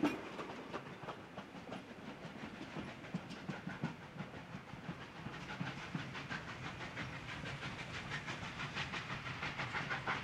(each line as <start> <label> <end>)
0.0 Steam 10.2